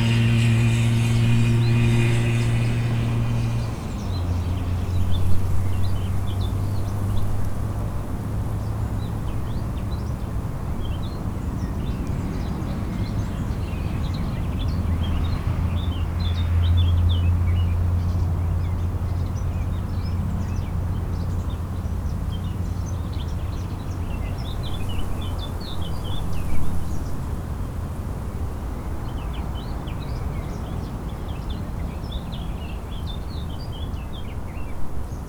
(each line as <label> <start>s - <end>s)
long grass rustling in the wind 0.0s - 8.1s